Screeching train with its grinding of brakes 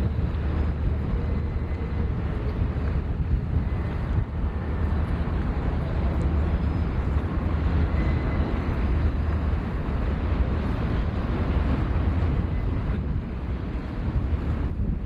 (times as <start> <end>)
6.0 11.3